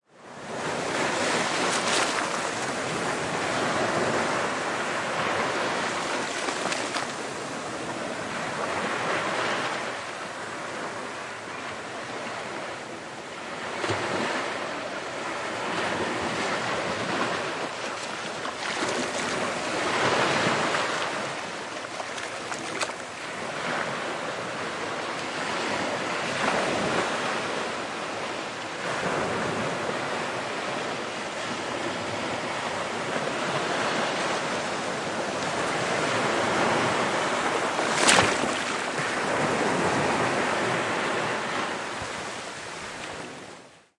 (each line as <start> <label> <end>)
0.1 waves and foams 43.9